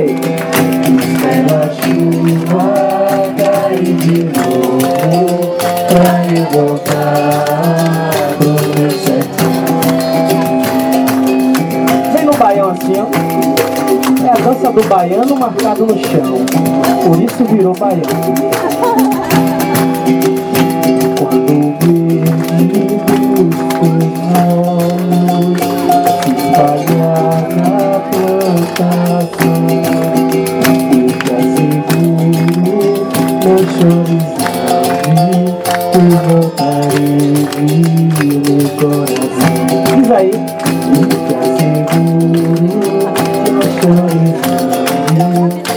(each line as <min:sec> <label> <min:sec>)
0:00.0 artistas de rua tocando, cantando 0:45.7
0:00.0 orquestra de berimbaus afinados 0:45.7